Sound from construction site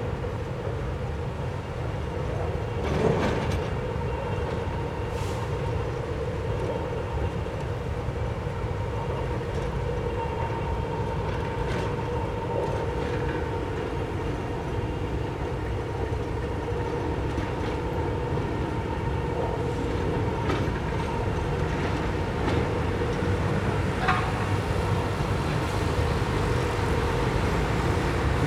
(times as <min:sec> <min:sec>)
0:11.3 0:28.4